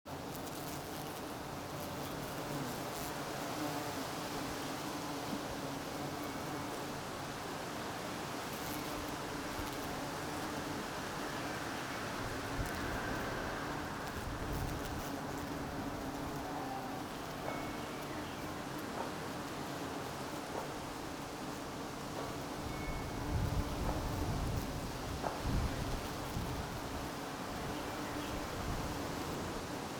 0.0s wind 29.9s
0.1s Bumblebees and honeybees buzzing around a wisteria bush 29.9s
11.4s passing cars 15.6s

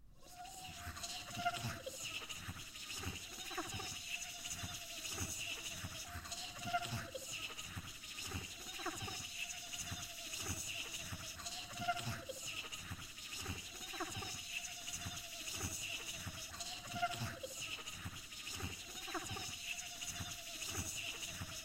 0.2s high pitched chittering sounds 21.6s

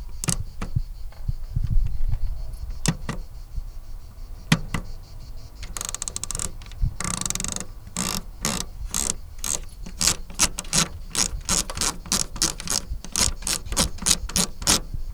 0.0s Radios knob 0.9s
2.6s Radios knob 3.4s
4.4s Radios knob 15.1s

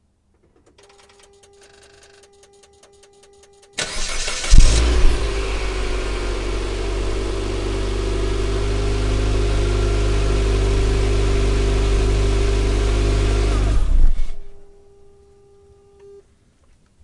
3.8s Lancer Startup and shut down 14.5s

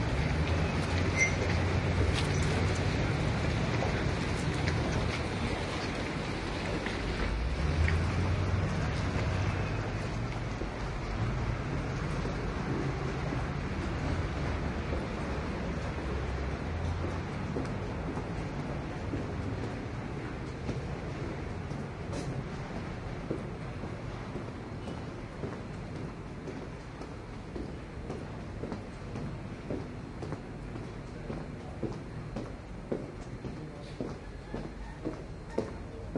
0.0s other people passing by 36.1s
1.0s opening a door 1.7s
3.6s footsteps 36.1s

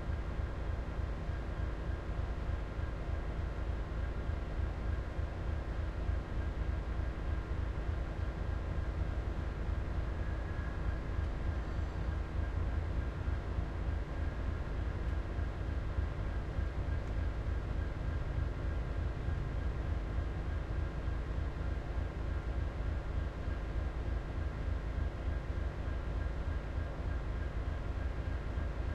0.0s engine 28.9s

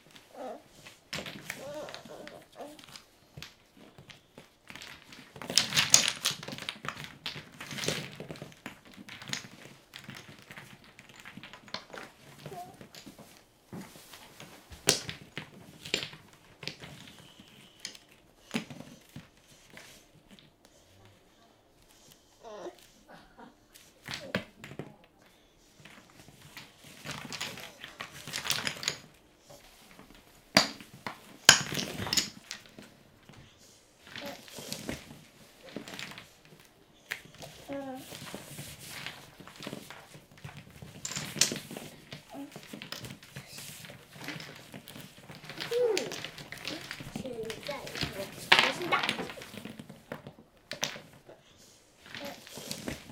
34.1s Wooden Toy Blocks 51.4s
52.0s Wooden Toy Blocks 53.1s

